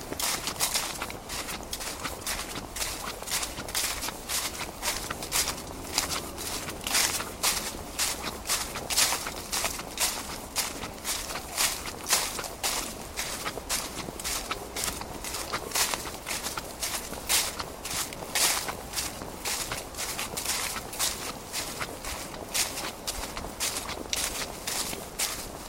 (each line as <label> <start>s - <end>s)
footsteps through dry crunching leaves 0.0s - 25.6s